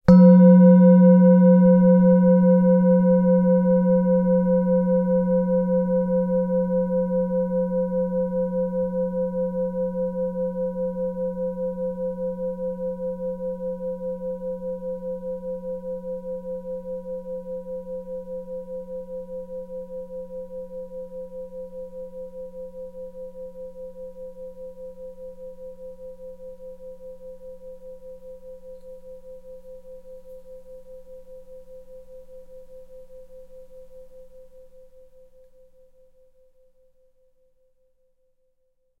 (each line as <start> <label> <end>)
0.1 singing bowl - single strike 4.0